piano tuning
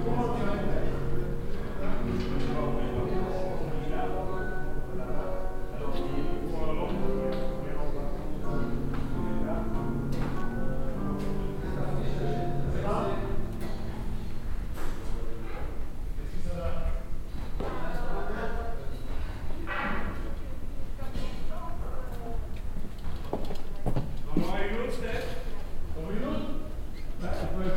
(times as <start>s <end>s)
0.0s 16.2s